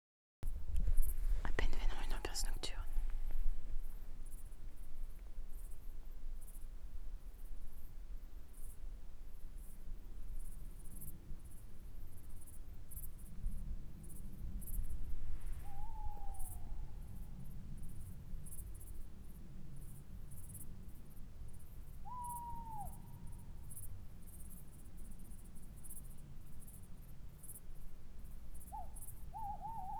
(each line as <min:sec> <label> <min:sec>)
0:00.5 insects 0:29.9
0:15.6 tawny owl 0:17.4
0:22.0 tawny owl 0:23.6
0:28.6 tawny owl 0:29.9